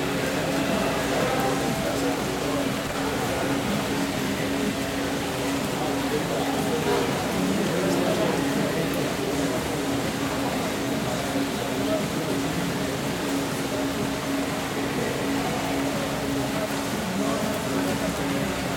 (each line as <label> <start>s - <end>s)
estudiantes conversan 0.0s - 18.7s